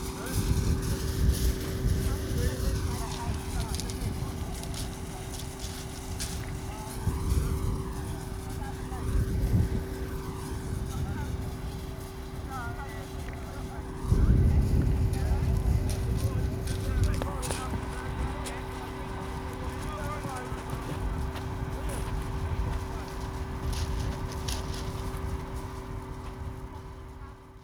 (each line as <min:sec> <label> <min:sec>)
0:00.0 life boat engine is heard speeding towards the shore 0:27.6